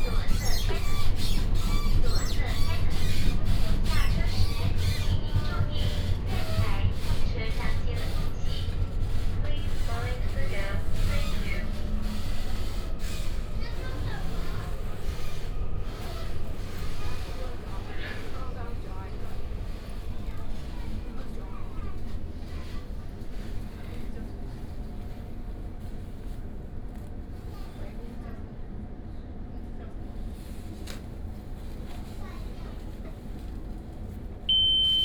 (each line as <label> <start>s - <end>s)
Union train compartment 0.0s - 35.0s